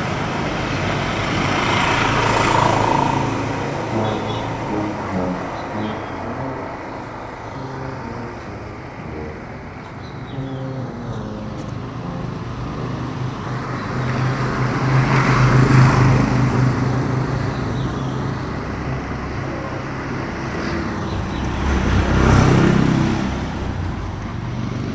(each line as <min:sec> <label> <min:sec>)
0:01.6 Trombón 0:15.9